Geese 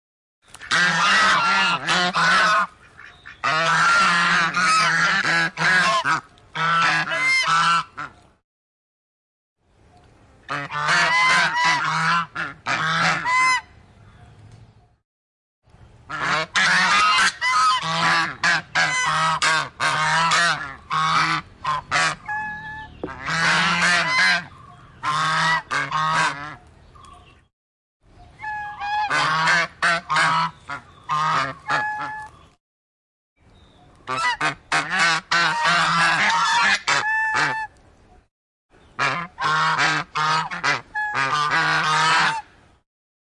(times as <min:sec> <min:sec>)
0:00.6 0:08.2, 0:10.5 0:13.7, 0:16.1 0:26.7, 0:28.4 0:32.4, 0:34.1 0:37.8, 0:39.0 0:42.5